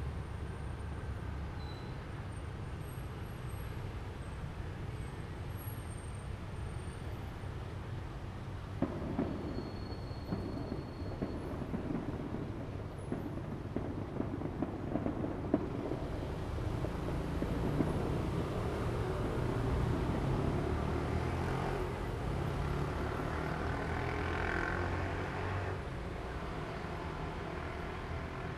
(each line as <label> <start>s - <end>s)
Fireworks sound 8.8s - 22.3s